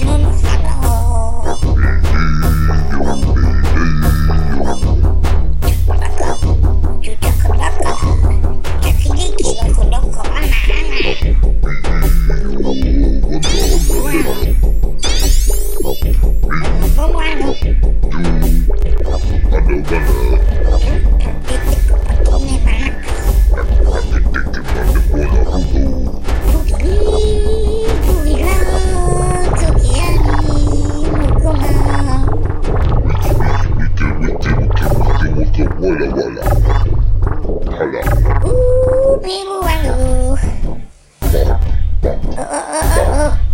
vocal 0:00.0 - 0:14.6
percussion 0:00.0 - 0:43.5
vocal 0:15.8 - 0:43.5

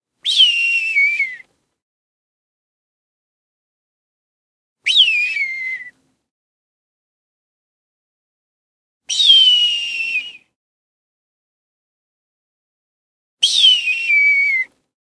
distant hawk cry recreated by way of a whistling technique 0:00.2 - 0:01.6
distant hawk cry recreated by way of a whistling technique 0:04.8 - 0:06.1
distant hawk cry recreated by way of a whistling technique 0:09.0 - 0:10.6
distant hawk cry recreated by way of a whistling technique 0:13.4 - 0:14.9

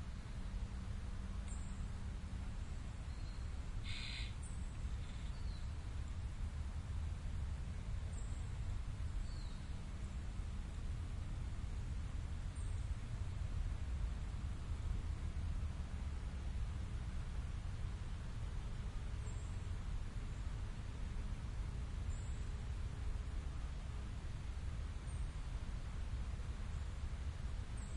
winds are rustling the leaves 0:00.0 - 0:27.9
birds 0:02.6 - 0:05.9

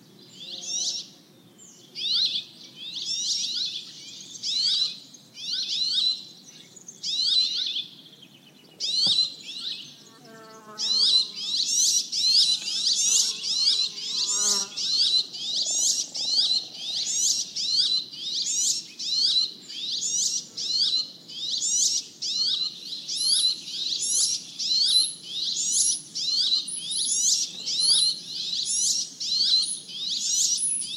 insects 0:00.0 - 0:30.9
lots of birds 0:00.0 - 0:30.9

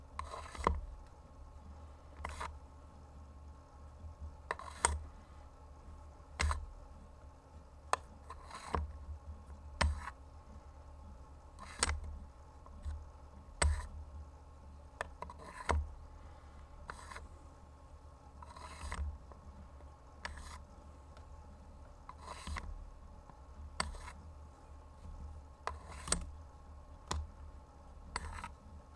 Putting a pencil in and out of pencil sharpener hole 0:04.5 - 0:05.0

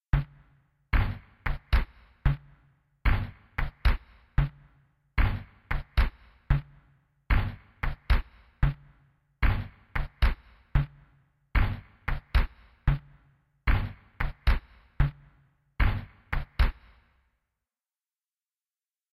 drum loop 0:01.0 - 0:04.6
drum loop 0:05.2 - 0:11.0
drum loop 0:11.6 - 0:16.8

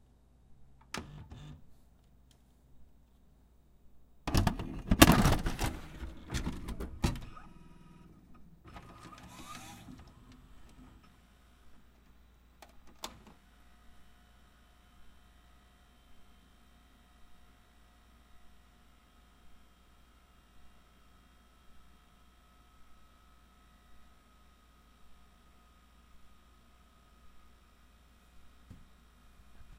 Putting a tape in my VCR 0:04.3 - 0:07.7
Putting a tape in my VCR 0:08.7 - 0:11.1

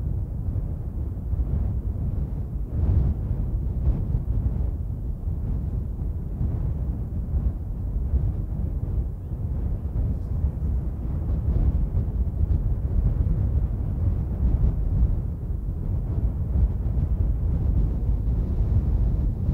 wind, medium constant gusts 0:00.0 - 0:19.5

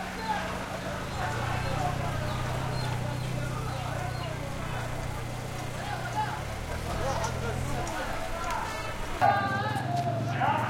shopping carts pushed past 0:00.0 - 0:09.8
arabic voices vendors throaty 0:00.0 - 0:10.6
orange vendor on PA 0:00.0 - 0:10.6
traffic 0:00.0 - 0:10.6

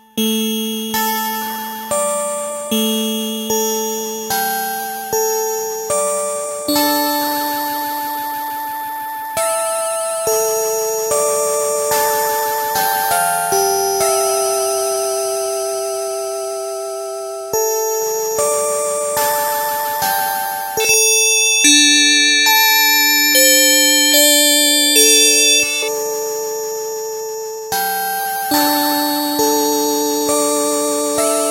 keyboard with built-in FM-synthesizer 0:16.0 - 0:31.5

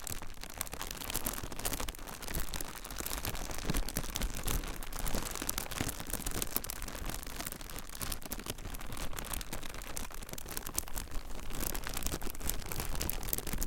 Plastic Bag Crinkle 0:00.0 - 0:13.6

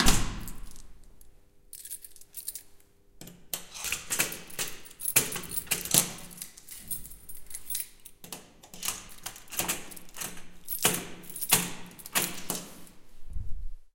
closing door 0:00.0 - 0:00.7
locking with keys 0:00.0 - 0:13.0

